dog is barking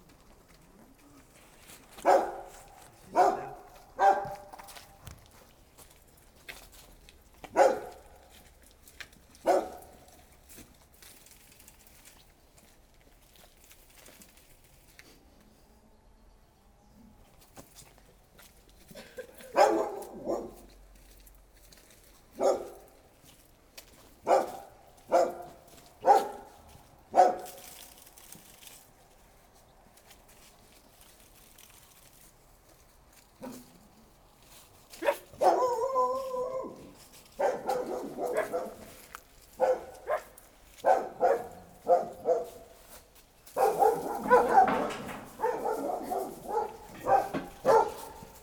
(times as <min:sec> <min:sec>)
0:02.0 0:04.6, 0:07.5 0:08.2, 0:09.4 0:10.1, 0:19.4 0:20.7, 0:22.4 0:22.9, 0:24.2 0:27.6, 0:35.0 0:39.0, 0:39.6 0:42.7, 0:43.6 0:48.4